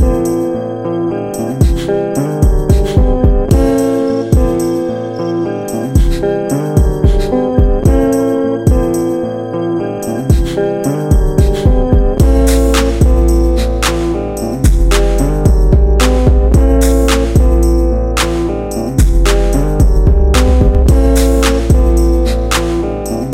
guitar 0:00.0 - 0:23.3
beat 0:01.4 - 0:04.9
beat 0:05.7 - 0:09.2
beat 0:10.1 - 0:23.3

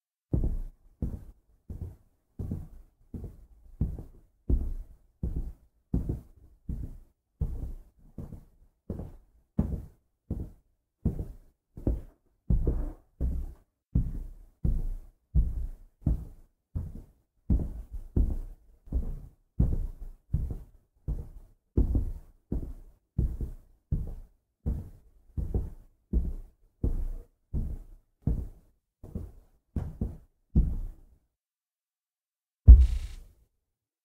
neighbour's footsteps 0:32.7 - 0:33.2

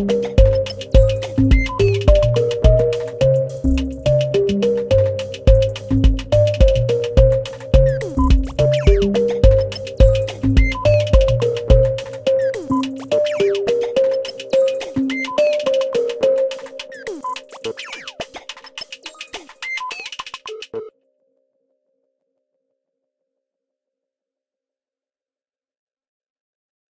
high-pitched squeaking sound 0:00.0 - 0:04.9
high-pitched squeaking sound 0:06.4 - 0:20.9

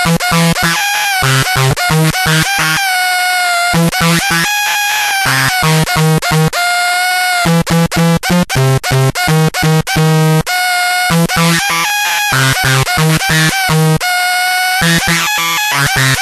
distorted, howling glitchy feedback 0:00.0 - 0:08.2
distorted, howling glitchy feedback 0:09.4 - 0:16.2

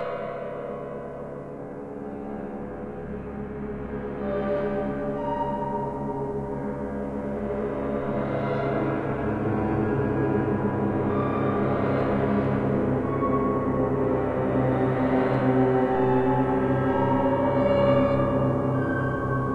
clustered piano-sounds 0:00.0 - 0:19.5

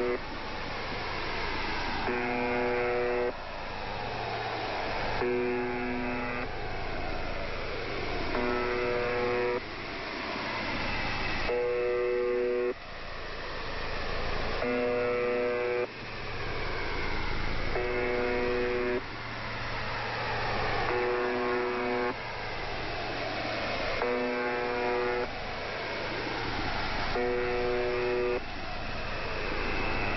The Buzzer 0:00.0 - 0:00.2
The Buzzer 0:02.0 - 0:03.4
The Buzzer 0:05.2 - 0:06.6
The Buzzer 0:08.3 - 0:09.7
The Buzzer 0:11.4 - 0:12.8
The Buzzer 0:14.6 - 0:16.0
The Buzzer 0:17.7 - 0:19.2
The Buzzer 0:20.6 - 0:22.2
The Buzzer 0:23.9 - 0:25.4
The Buzzer 0:27.1 - 0:28.5

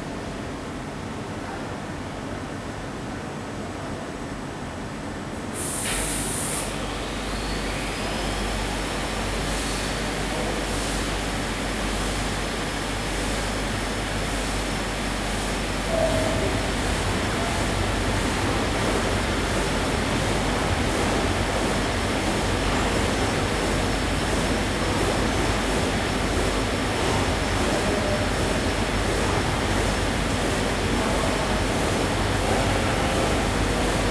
printing machines are running and idling 0:03.0 - 0:34.1
workers' voices 0:07.8 - 0:11.7
workers' voices 0:15.7 - 0:34.1

